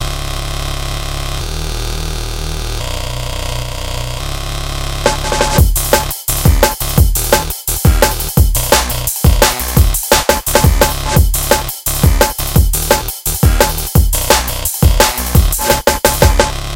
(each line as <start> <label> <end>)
0.0 Bass 16.7
5.1 Beat 16.7